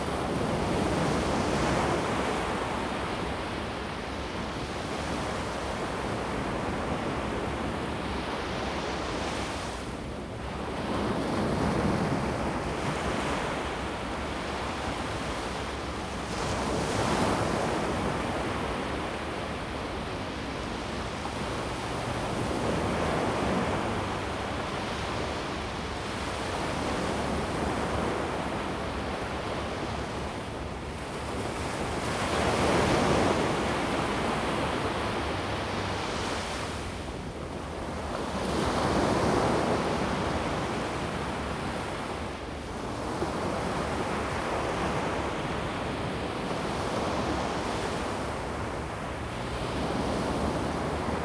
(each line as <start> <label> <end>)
0.0 waves 51.2